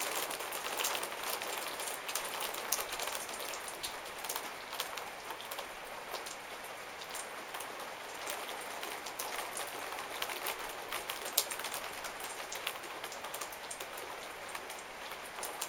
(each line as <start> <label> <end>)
0.0 Rainfall on a wooden veranda 15.6